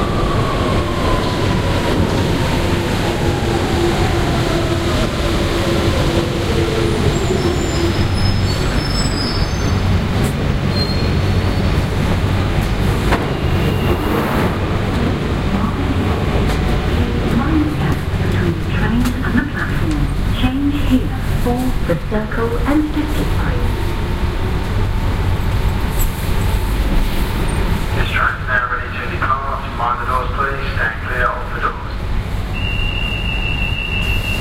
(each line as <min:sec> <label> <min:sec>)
0:00.0 train 0:34.4
0:17.1 announcement 0:23.8
0:28.0 announcement 0:32.0